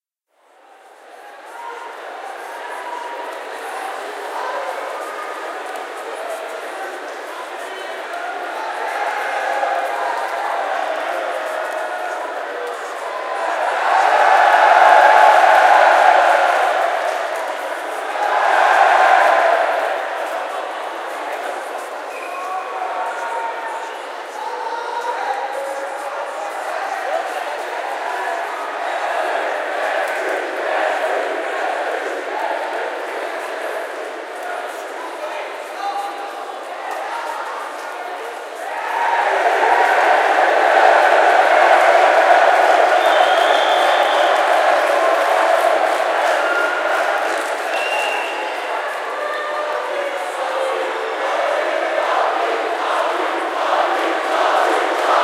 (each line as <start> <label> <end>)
1.4 Crowd Cheering 23.8
24.4 Crowd Cheering 37.4
38.5 Crowd Cheering 55.2